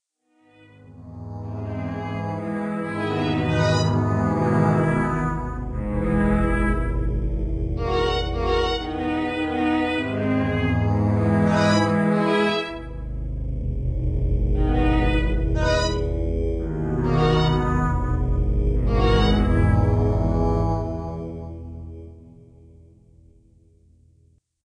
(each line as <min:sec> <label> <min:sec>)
0:01.4 orchestral violin 0:13.1
0:14.6 orchestral violin 0:16.1
0:16.8 orchestral violin 0:20.4